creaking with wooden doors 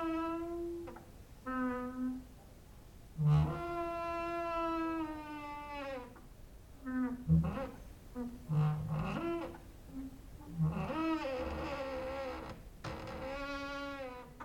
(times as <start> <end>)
3.2 14.4